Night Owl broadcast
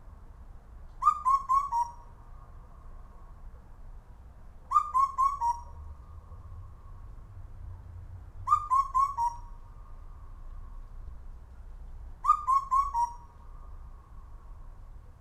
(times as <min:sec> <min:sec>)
0:01.0 0:03.2, 0:04.7 0:07.0, 0:08.4 0:10.9, 0:12.2 0:14.6